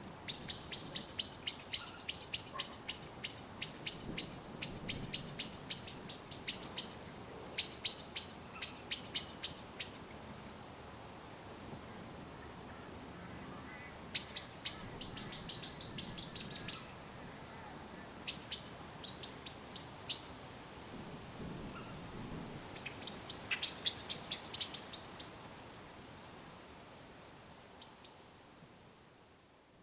Birds 0:00.0 - 0:10.8
Birds 0:12.4 - 0:20.4
Birds 0:22.7 - 0:25.4

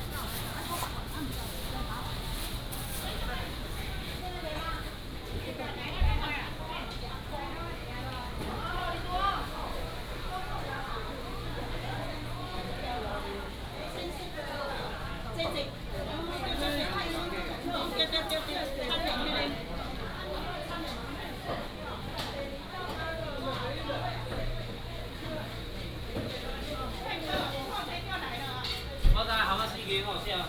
Walking in the traditional market 0:00.0 - 0:30.4

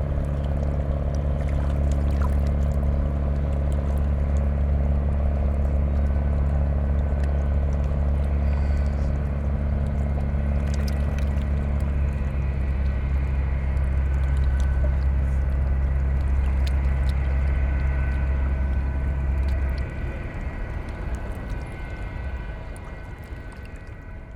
drone 0:00.0 - 0:24.3
river Rhein 0:00.0 - 0:24.3

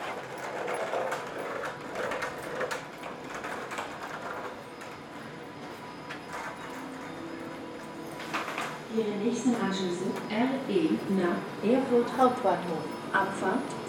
train approaching 0:00.0 - 0:13.8
voice 0:08.9 - 0:13.8

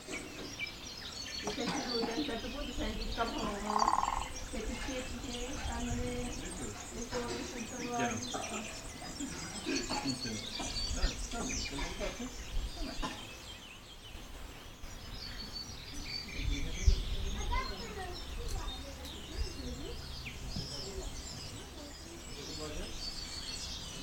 Family 0:00.0 - 0:24.0
woodpeckers 0:00.0 - 0:24.0

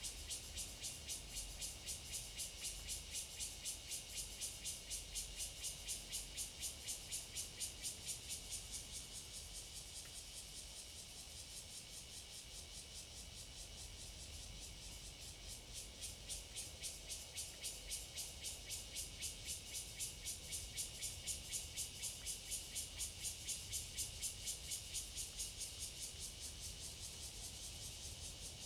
Cicadas sound 0:00.0 - 0:28.6

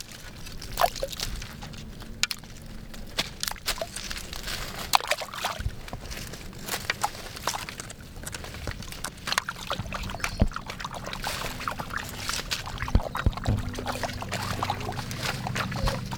Stones splashing 0:06.8 - 0:16.1
Children having fun 0:09.8 - 0:16.1

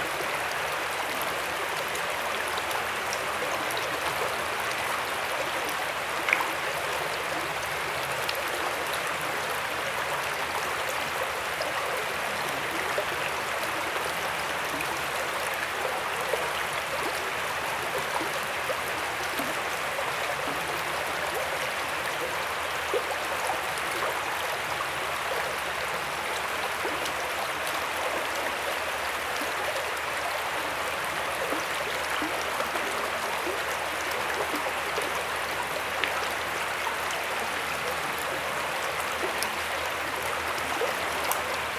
Water stream 0:00.0 - 0:41.7

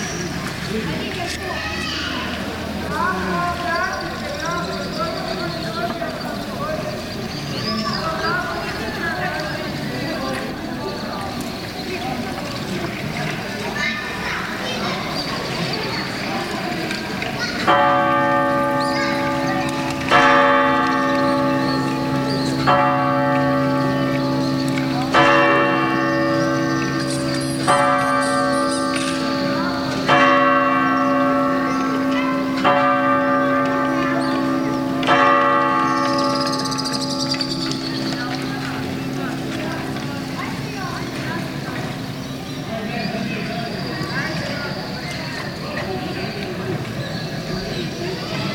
city-tower bells 0:00.0 - 0:48.5
voices of inhabitants 0:00.0 - 0:48.5
voices of workers 0:00.0 - 0:48.5

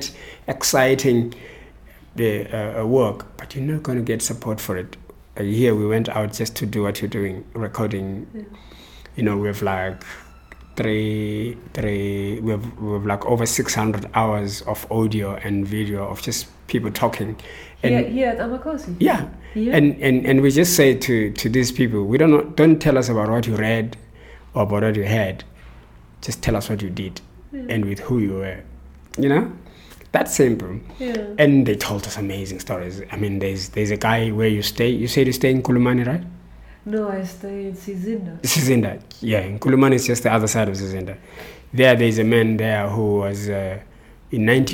interview 0:26.2 - 0:44.7

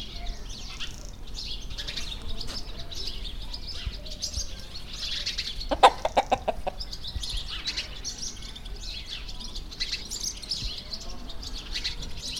poules se nourrissent 0:00.7 - 0:06.9

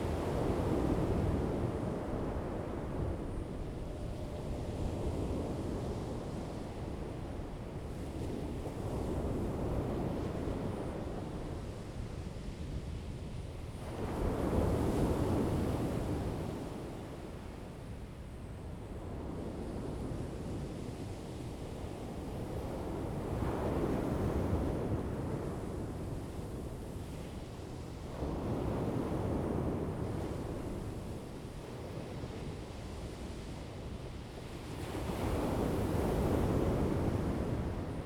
waves 0:21.6 - 0:38.0

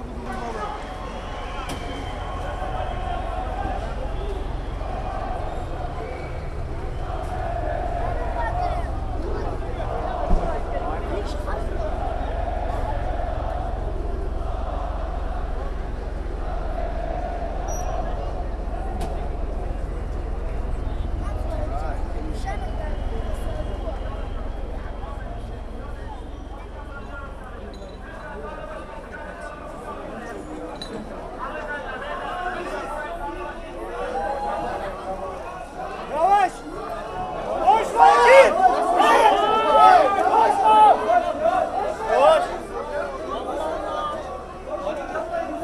police water cannon trucks 0:00.0 - 0:17.0

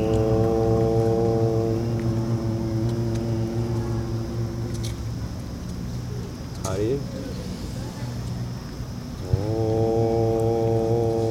two people are meditating 0:00.0 - 0:05.2
People are walking around 0:00.0 - 0:11.3
city is in background 0:00.0 - 0:11.3
two people are meditating 0:09.2 - 0:11.3

